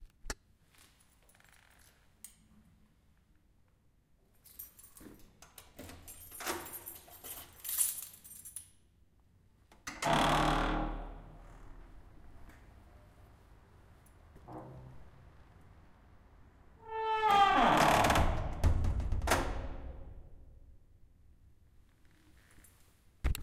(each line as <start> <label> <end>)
4.3 keys to open the door 8.9
9.8 Heavy steel door opening, closing and locking 11.8
14.4 Heavy steel door opening, closing and locking 15.2
16.9 Heavy steel door opening, closing and locking 20.3